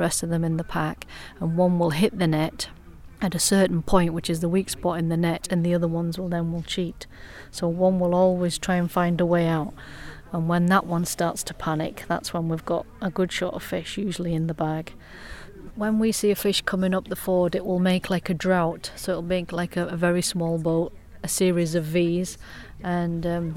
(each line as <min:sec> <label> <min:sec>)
0:00.0 Field interview 0:03.2
0:03.8 Field interview 0:13.1
0:14.2 Field interview 0:16.8
0:20.7 Field interview 0:23.5